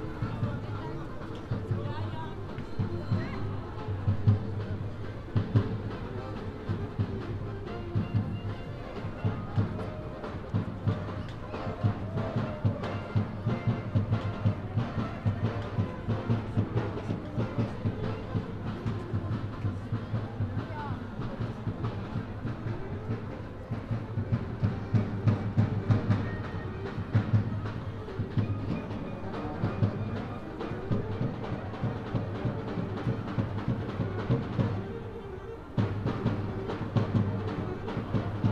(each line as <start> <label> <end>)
0.0 people passing and talking 38.5
0.0 street musicians 38.5